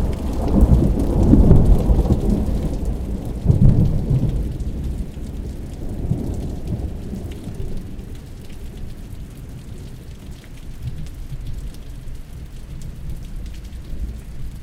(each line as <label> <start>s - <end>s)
Thunder Claps 0.0s - 7.5s